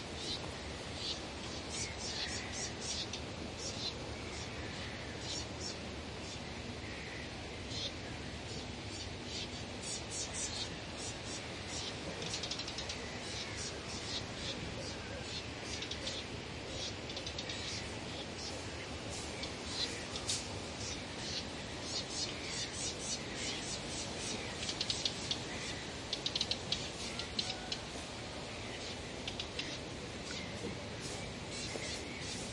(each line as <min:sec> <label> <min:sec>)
0:00.0 windy trees 0:32.5
0:00.1 Birds chirping 0:32.5